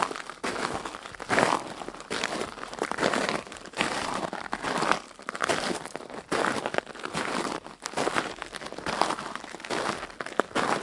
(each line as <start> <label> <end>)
0.0 walking on small sized ( 6mm ) granite gravel 10.8